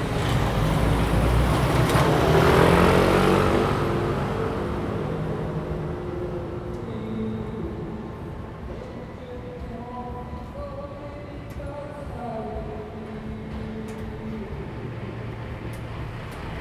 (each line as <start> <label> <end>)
0.0 Traffic Sound 10.7
11.3 Traffic Sound 16.6